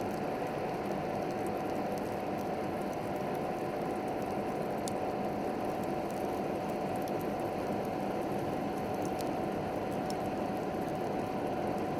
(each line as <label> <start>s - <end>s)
Coal burning 0.0s - 11.9s
fan 0.0s - 11.9s